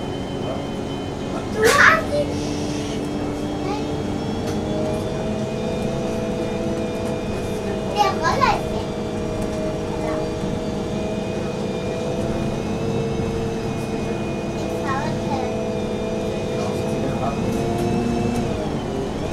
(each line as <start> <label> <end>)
0.0 midtown bus 19.3
1.4 little child is talking 2.5
3.6 little child is talking 3.9
7.9 little child is talking 9.0
9.9 little child is talking 10.4
14.8 little child is talking 15.6